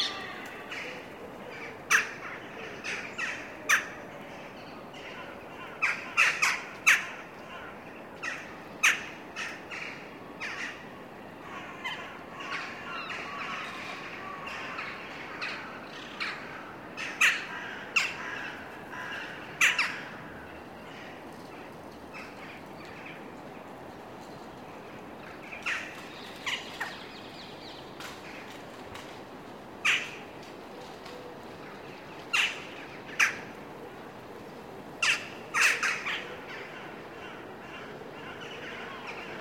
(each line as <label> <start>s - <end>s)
Birds singing 0.0s - 10.8s